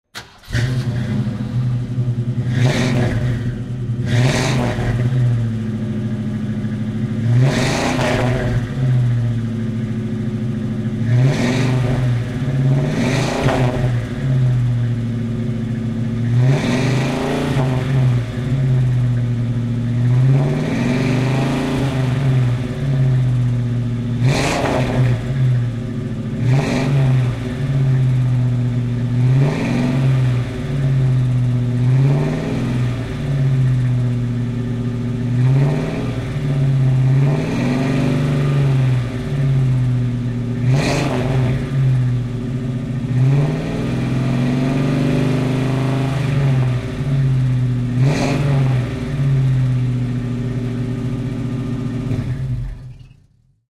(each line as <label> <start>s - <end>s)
Mustang Ehxaust 0.1s - 48.1s